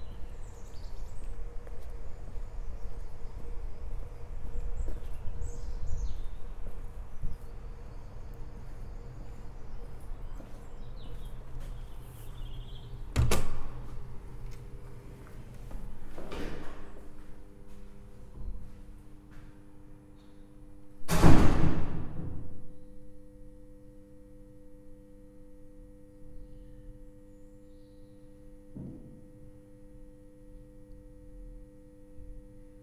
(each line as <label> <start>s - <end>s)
pitched hum of the entry hall 0.0s - 32.8s